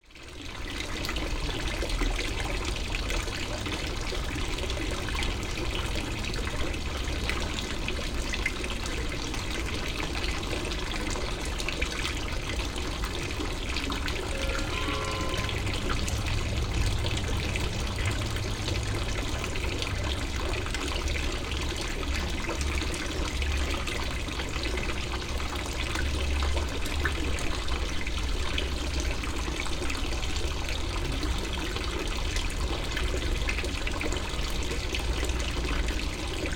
fountain 0.0 - 36.5
a bell rings 14.3 - 15.7

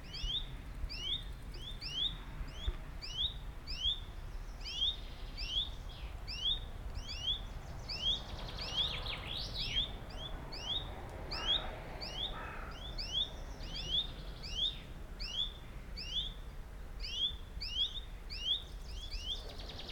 a bus drives on the westerly street 5.1 - 15.2
a plane flies over the area 6.1 - 15.2

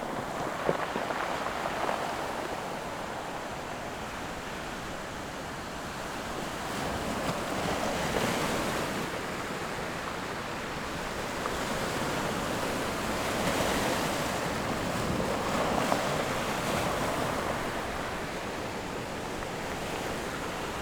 waves 0.0 - 20.8

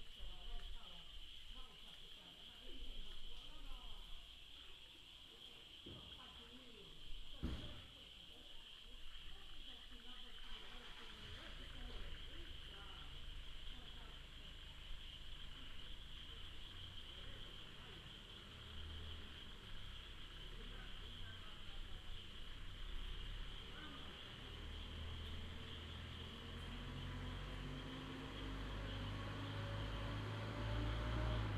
Traffic sound 11.6 - 31.5
Insect cry 12.0 - 29.0

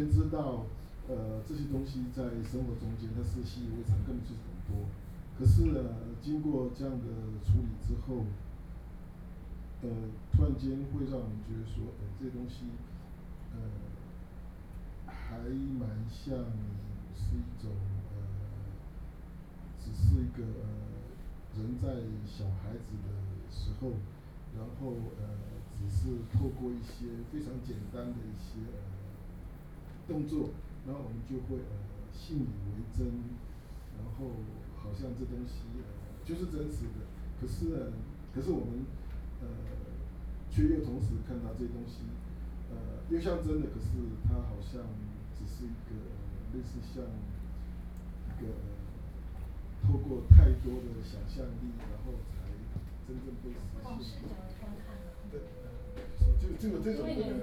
curator and art critic and teacher Talk 0.0 - 9.1
curator and art critic and teacher Talk 15.1 - 57.4

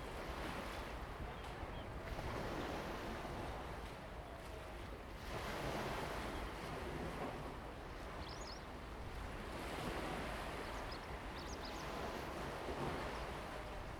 waves 0.0 - 13.9

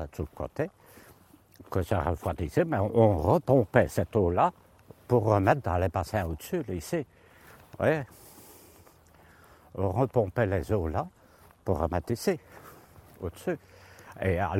old worker testimony 0.0 - 14.5

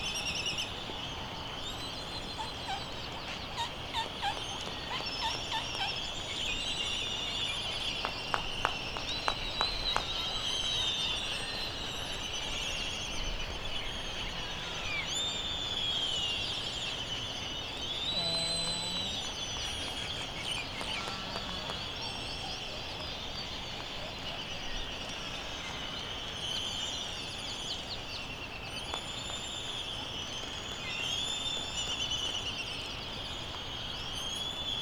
canaries 0.0 - 34.8
laysan albatross 17.8 - 25.9
voices 18.0 - 23.3

